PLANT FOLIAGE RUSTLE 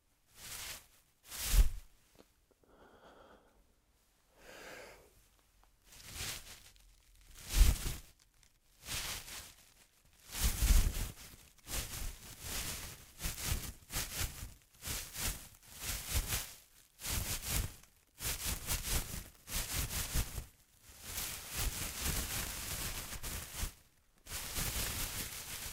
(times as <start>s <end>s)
5.9s 20.4s, 21.0s 25.7s